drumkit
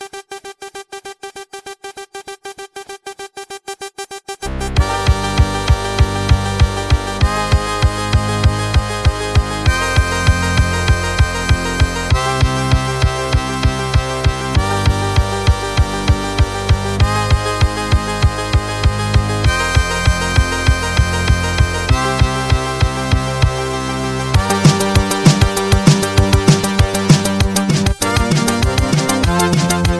0:24.4 0:29.9

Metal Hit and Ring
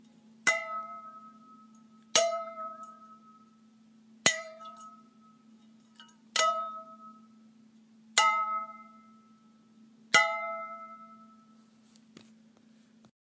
0:00.0 0:03.6, 0:04.2 0:07.4, 0:08.2 0:11.6

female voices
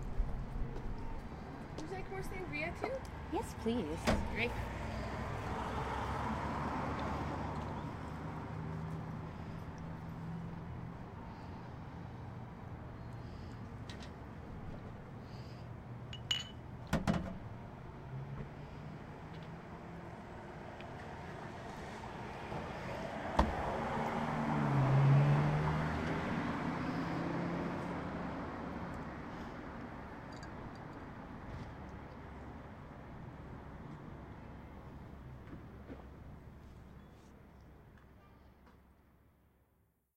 0:01.8 0:04.8

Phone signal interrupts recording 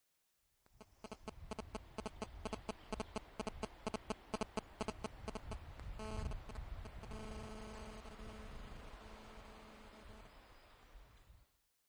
0:01.0 0:10.3

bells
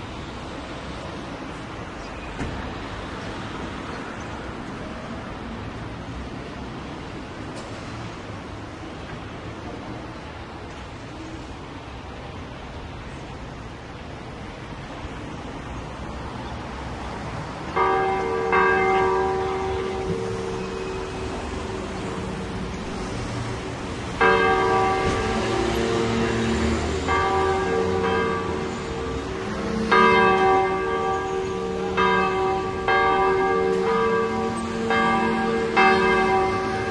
0:17.7 0:36.9

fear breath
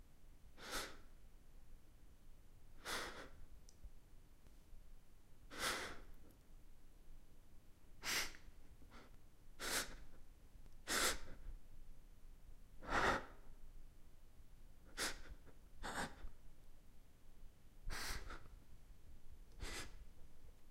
0:12.8 0:13.5, 0:14.9 0:16.3, 0:17.9 0:18.5, 0:19.6 0:20.0

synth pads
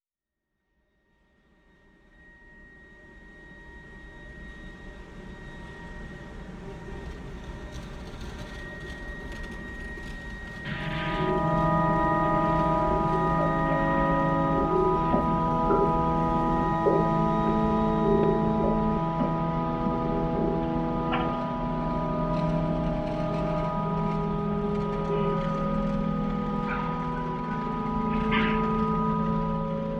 0:10.6 0:29.9

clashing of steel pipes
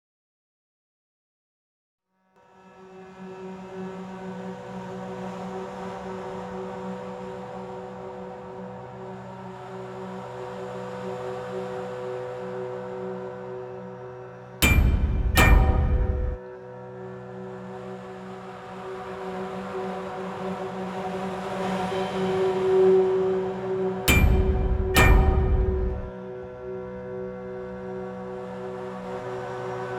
0:14.6 0:16.4, 0:24.1 0:26.1

